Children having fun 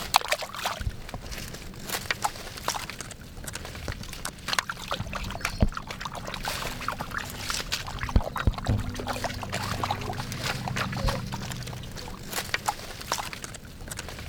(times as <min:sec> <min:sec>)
0:04.0 0:14.0